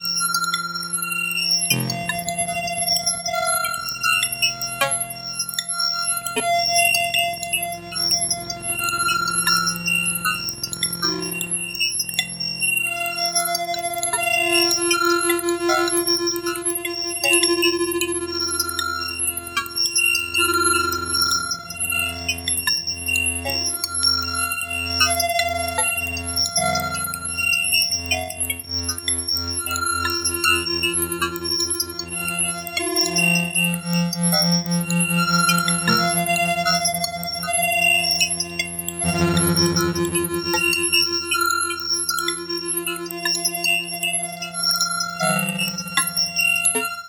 1.7s synthetic plucked sounds 2.5s
39.0s synthetic plucked sounds 41.4s

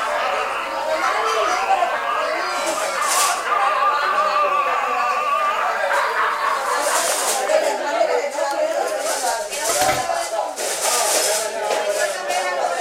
0.0s people 12.8s

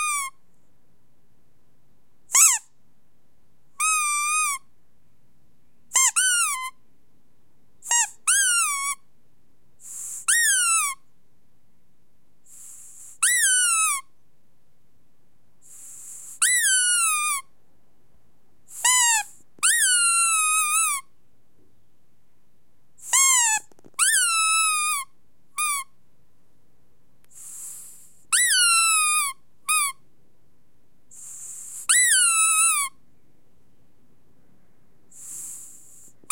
0.0s rubber squeaky toy being squeezed 0.4s
2.3s rubber squeaky toy being squeezed 2.7s
3.8s rubber squeaky toy being squeezed 4.6s
5.9s rubber squeaky toy being squeezed 6.8s
7.8s rubber squeaky toy being squeezed 9.0s
10.1s rubber squeaky toy being squeezed 11.0s
13.2s rubber squeaky toy being squeezed 14.1s
16.3s rubber squeaky toy being squeezed 17.5s
18.7s rubber squeaky toy being squeezed 21.1s
23.0s rubber squeaky toy being squeezed 25.9s
28.3s rubber squeaky toy being squeezed 30.0s
31.2s rubber squeaky toy being squeezed 33.0s

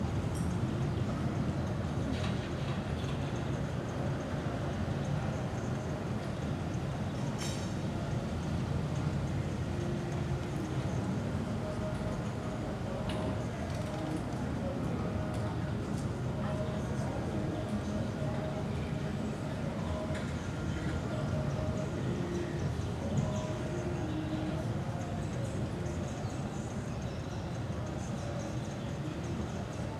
8.4s Music in background 29.9s

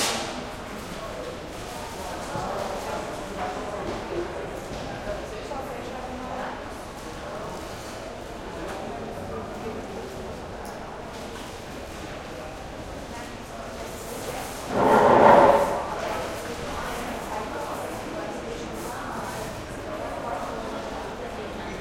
14.6s medium crowd heavy echo 16.4s

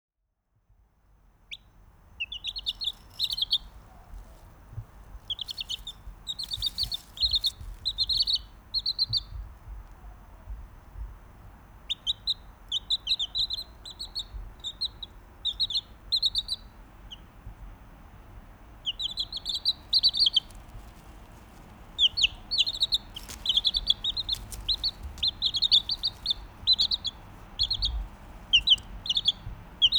2.2s Wood Sandpiper Bird Calls 4.4s
5.2s Wood Sandpiper Bird Calls 10.2s
11.9s Wood Sandpiper Bird Calls 17.3s
18.8s Wood Sandpiper Bird Calls 21.0s
21.9s Wood Sandpiper Bird Calls 29.9s

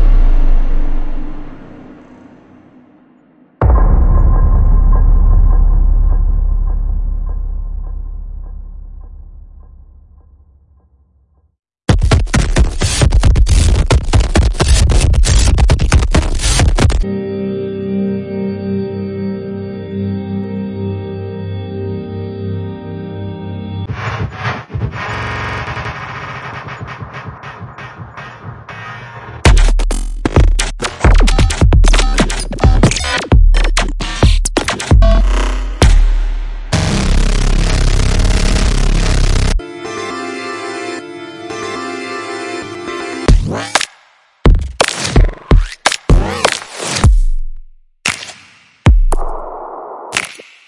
25.8s beats 37.0s

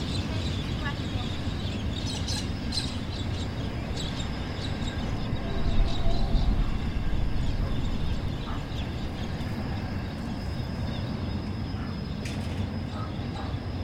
0.0s freight train passing 13.8s

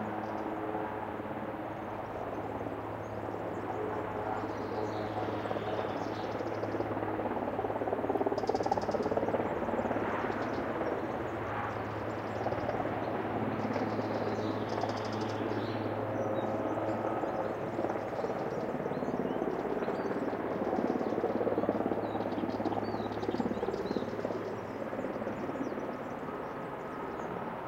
0.0s forest ambiance in background 27.6s

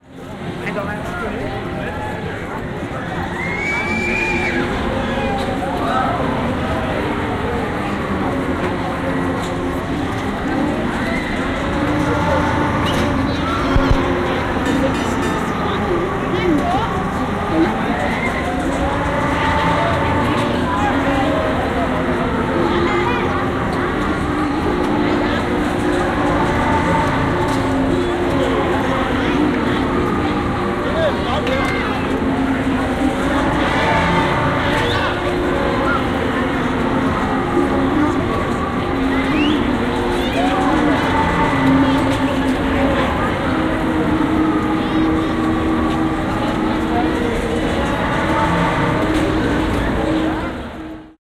3.1s people scream in the swing 6.4s

